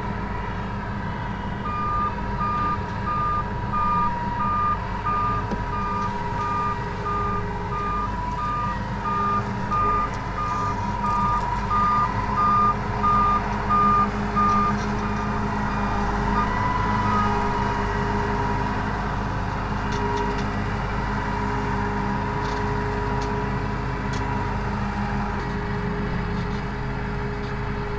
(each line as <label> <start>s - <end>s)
combine harvester in the corn fields 0.0s - 27.9s